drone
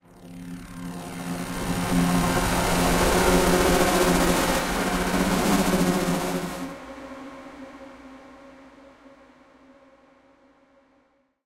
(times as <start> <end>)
0.0 8.0